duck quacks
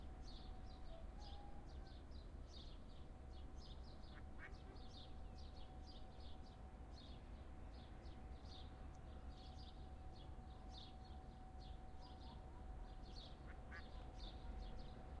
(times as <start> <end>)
13.7 14.0